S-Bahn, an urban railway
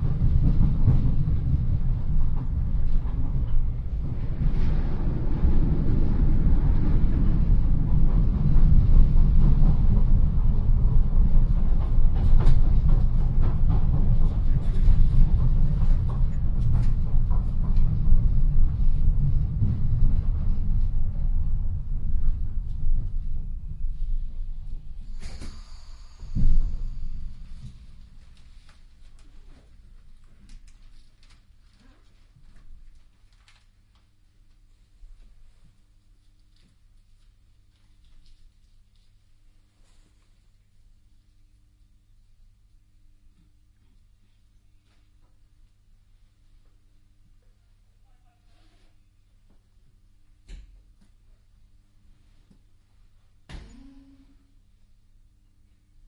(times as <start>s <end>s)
0.0s 29.0s